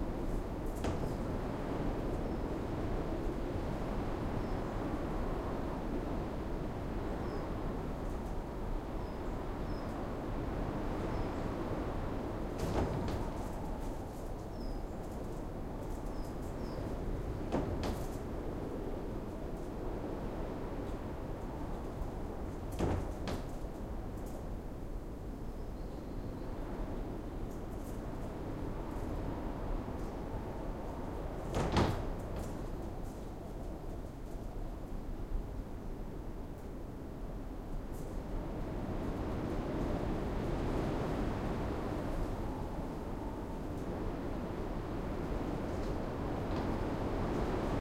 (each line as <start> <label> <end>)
0.0 wind 47.8
0.3 windows were rattling 2.8
11.8 windows were rattling 19.7
21.6 windows were rattling 24.4
30.5 windows were rattling 33.8